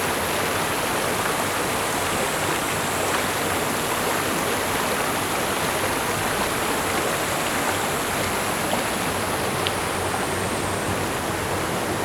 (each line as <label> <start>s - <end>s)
water streams 0.0s - 12.0s